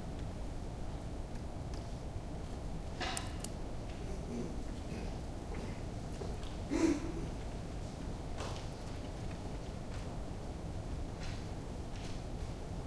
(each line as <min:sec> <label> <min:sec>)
0:03.0 Close computer mouse clicks 0:03.6